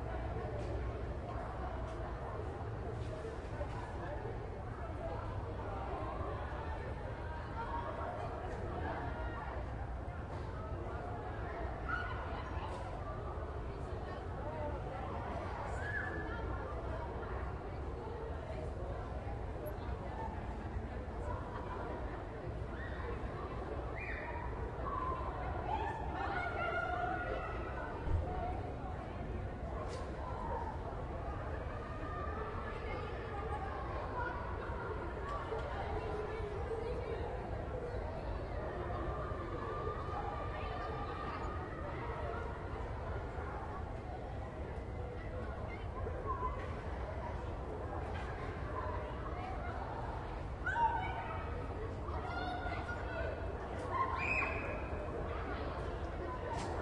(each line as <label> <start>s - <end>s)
crowd of teenagers 0.0s - 56.8s